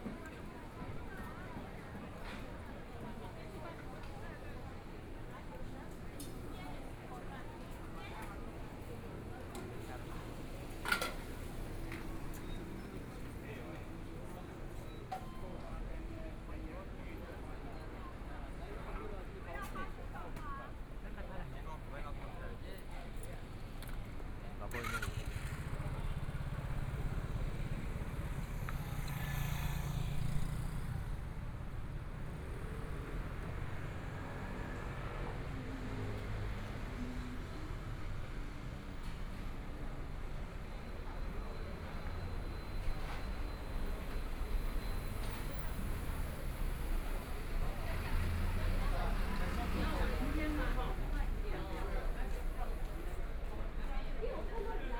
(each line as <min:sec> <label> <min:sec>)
0:00.0 Walking in the street 0:54.9
0:00.0 shops and restaurants 0:54.9
0:24.2 Traffic Sound 0:54.9